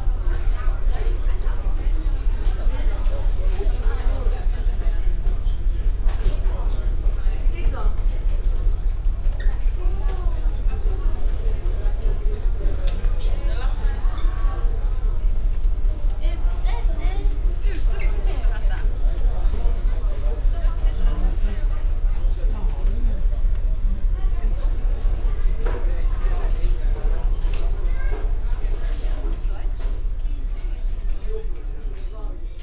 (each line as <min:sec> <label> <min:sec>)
0:00.0 hum of the motors 0:32.6